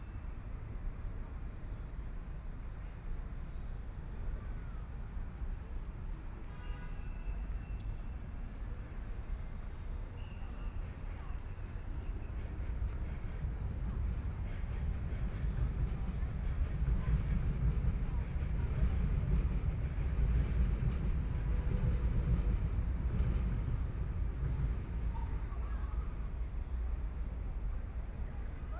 0.0s sound traveling through the subway 28.7s

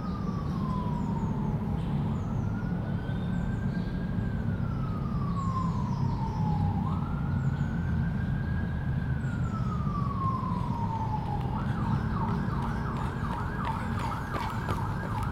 0.0s emergency service vehicle travelling 15.3s
0.0s nature 15.3s
10.5s joggers and walkers 15.3s

